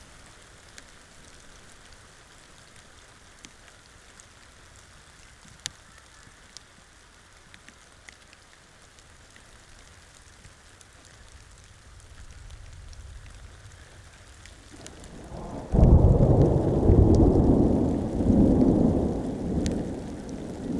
Storm 11.2 - 20.7

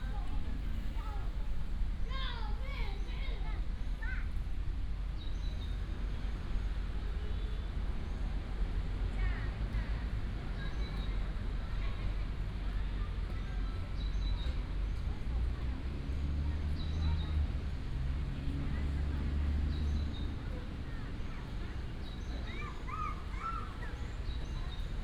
traffic sound 0.0 - 25.0
bird sound 21.2 - 25.0

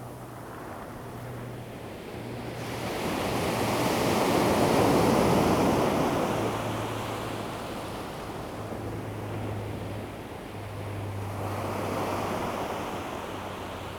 waves 0.0 - 13.9

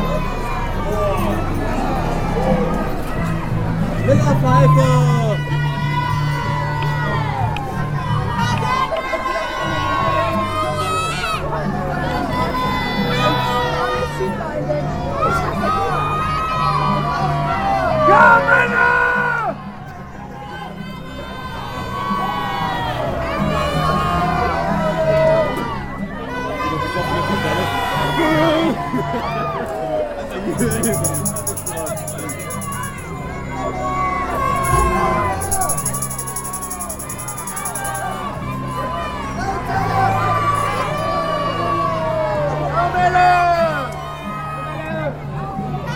people lining the streets shouting 0.1 - 30.9
parade of floats 30.5 - 33.1
parade of floats 34.6 - 38.3
people lining the streets shouting 38.5 - 45.9

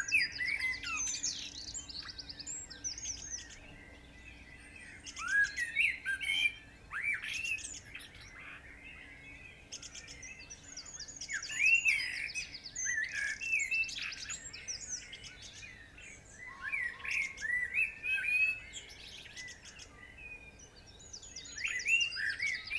blackbird calls and song 0.0 - 22.7

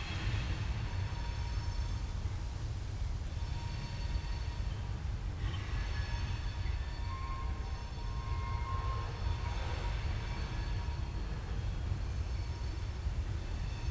freight train 0.0 - 13.9

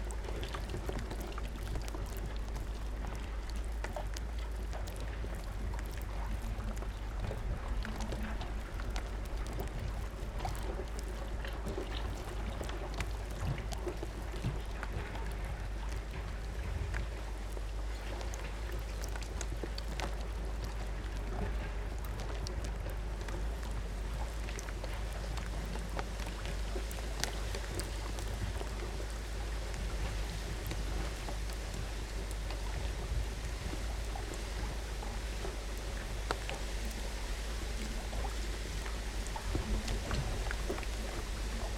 waves 0.0 - 41.7

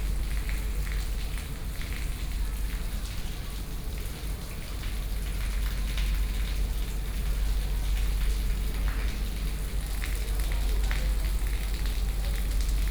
Rainwater 0.0 - 12.9

